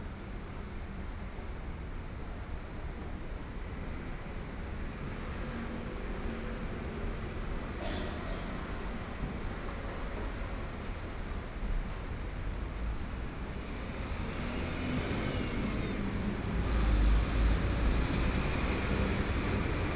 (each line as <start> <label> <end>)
13.6 Traffic Sound 19.9